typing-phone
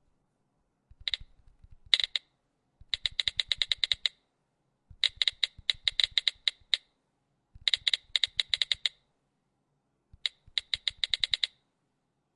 0:00.9 0:04.2, 0:04.9 0:06.9, 0:07.6 0:09.0, 0:10.2 0:11.6

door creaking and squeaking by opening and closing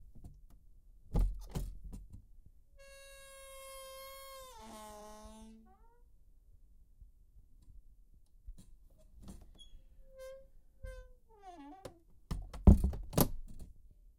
0:02.8 0:06.1, 0:09.2 0:13.3

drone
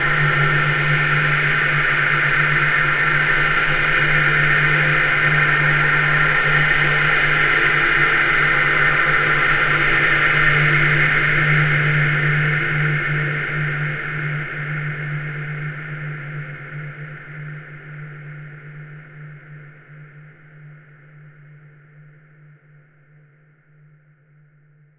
0:00.0 0:11.8

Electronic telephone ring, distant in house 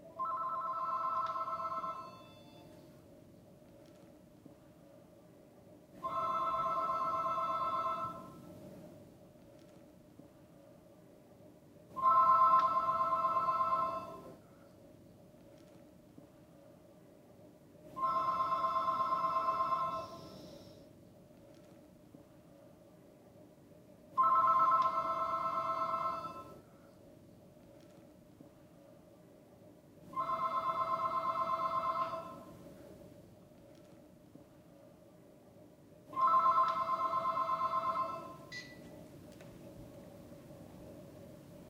0:00.2 0:02.8, 0:06.0 0:08.4, 0:12.0 0:14.4, 0:18.0 0:20.8, 0:24.2 0:26.6, 0:30.2 0:32.5, 0:36.2 0:38.8

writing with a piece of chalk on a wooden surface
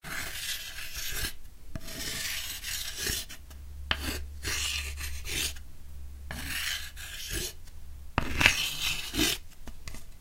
0:00.0 0:05.6, 0:06.3 0:07.6, 0:08.2 0:09.4

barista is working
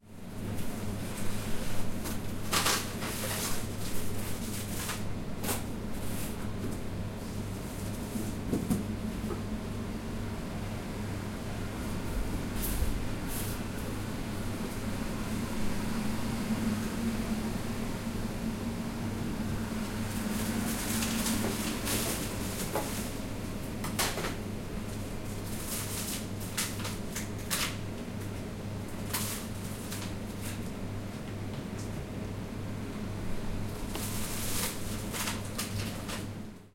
0:19.3 0:32.0

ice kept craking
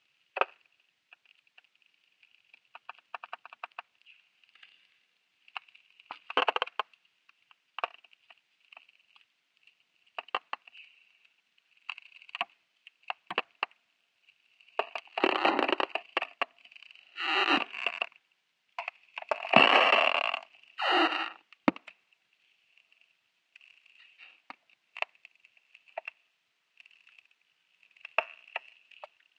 0:18.8 0:21.8

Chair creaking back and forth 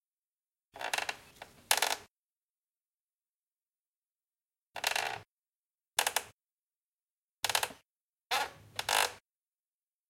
0:00.8 0:02.1, 0:04.8 0:05.3, 0:06.0 0:06.4, 0:07.4 0:09.2

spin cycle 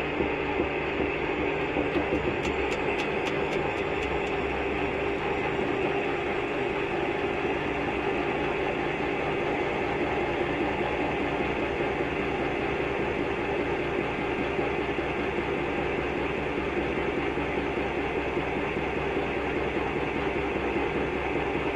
0:00.0 0:11.8

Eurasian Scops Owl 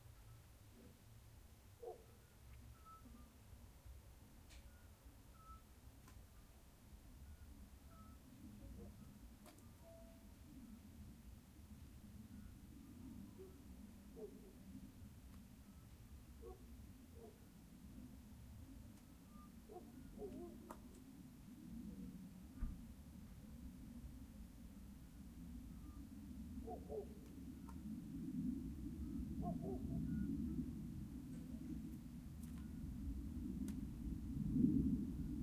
0:29.4 0:30.1

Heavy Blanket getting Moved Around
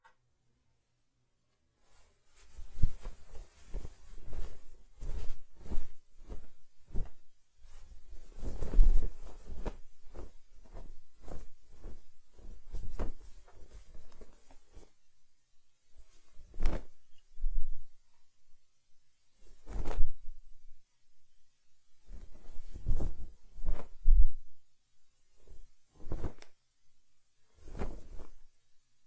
0:01.8 0:14.9, 0:22.0 0:24.2, 0:27.4 0:28.5

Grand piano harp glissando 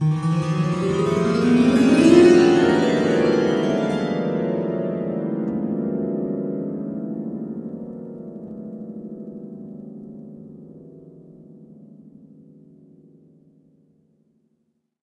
0:00.0 0:07.7

